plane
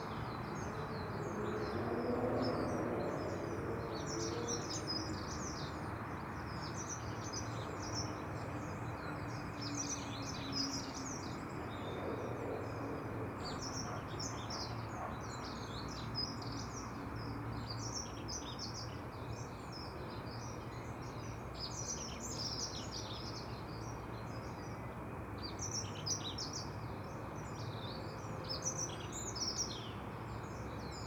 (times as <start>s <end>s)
11.0s 13.7s